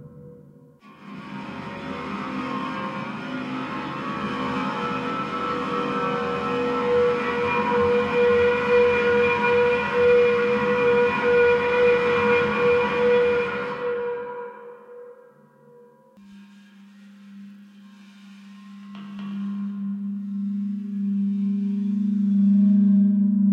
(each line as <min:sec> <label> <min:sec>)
0:00.0 bowed cymbal sounds 0:23.0